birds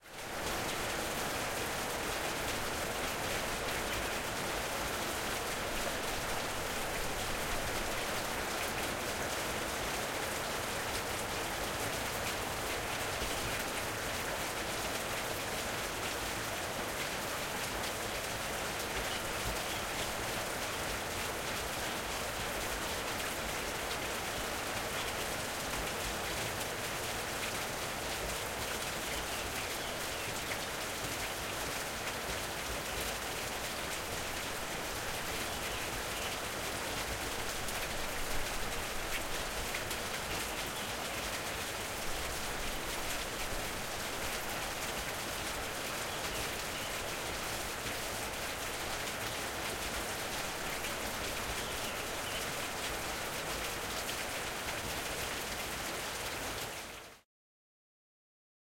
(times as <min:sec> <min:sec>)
0:51.4 0:52.7